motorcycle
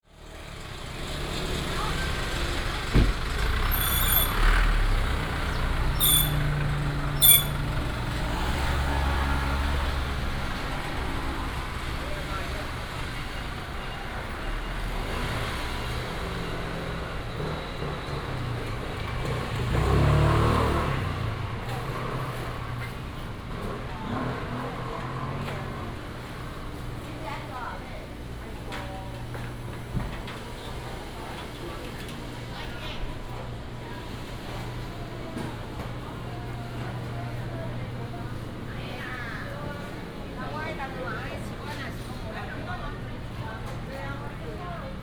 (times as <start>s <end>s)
0.2s 27.0s